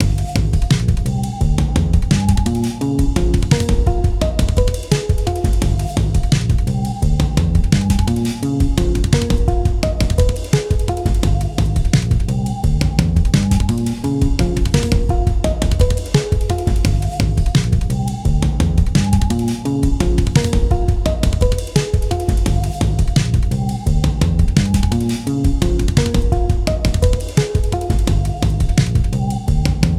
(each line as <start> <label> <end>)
0.0 percussion 29.9